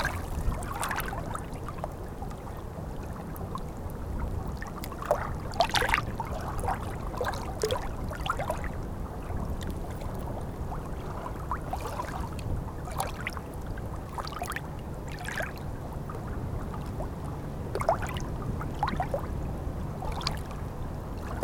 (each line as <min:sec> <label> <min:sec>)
0:00.0 Water is flowing in the wrong way 0:21.4